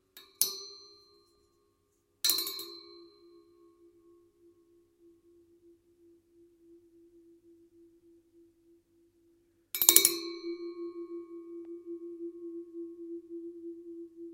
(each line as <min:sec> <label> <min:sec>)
0:09.8 metal gong 0:14.3